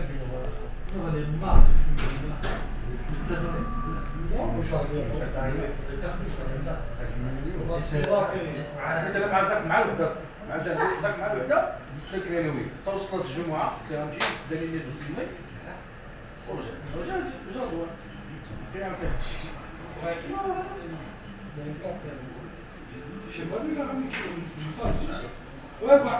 discussing in their home 0.0 - 26.1

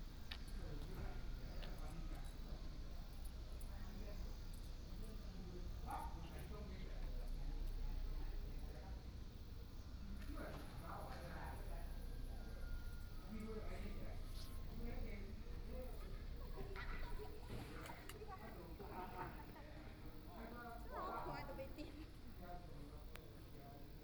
Traffic Sound 0.0 - 20.3

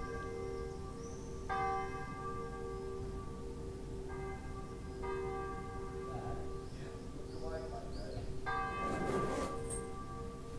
all the bells in the locale started to ring 0.0 - 10.5
my suitcase zip 8.9 - 9.8

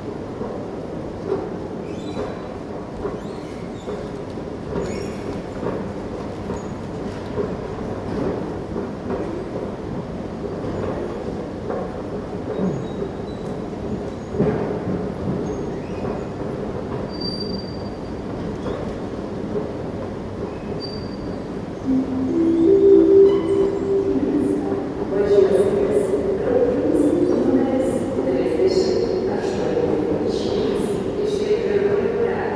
train station announcements 21.8 - 32.5

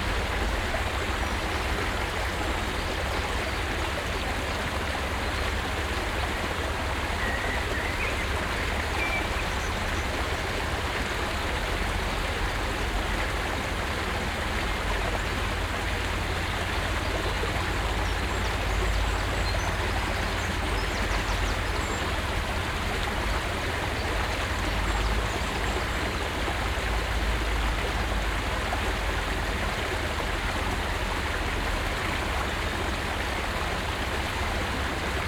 small stream 0.0 - 35.2
birds 2.7 - 11.4

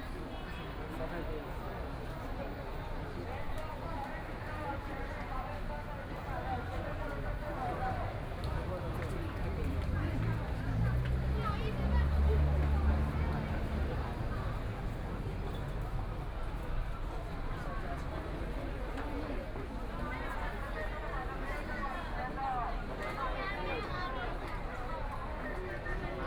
Walking through the site in protest 0.1 - 26.2

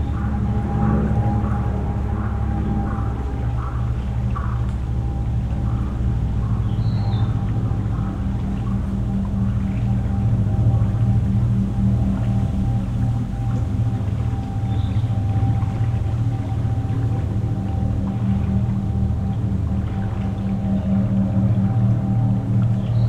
Small airplane 0.0 - 23.0
fishing boat 0.0 - 23.0

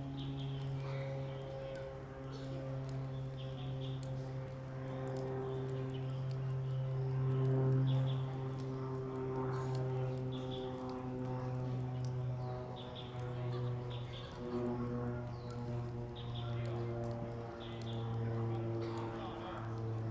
Small aircraft in the distance 0.0 - 20.1

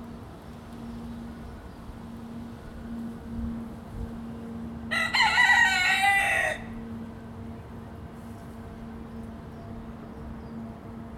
plane flying 0.0 - 11.1
train going by 0.0 - 11.1
wind 0.0 - 11.1

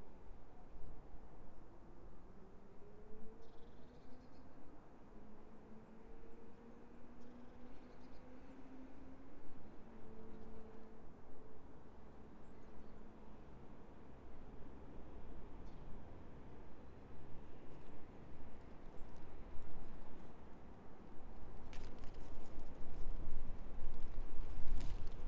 wind moving through the ivy 16.3 - 25.2

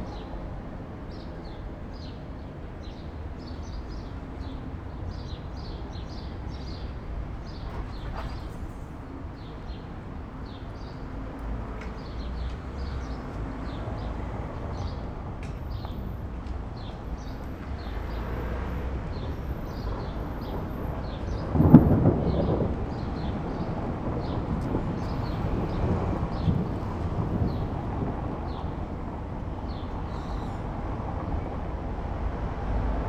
pedestrians 0.0 - 33.0
traffic noise 0.0 - 33.0
upcoming thunderstorm 19.8 - 30.0

